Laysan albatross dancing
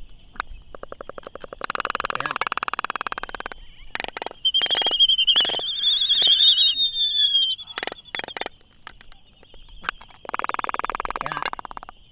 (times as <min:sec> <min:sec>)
0:00.5 0:09.2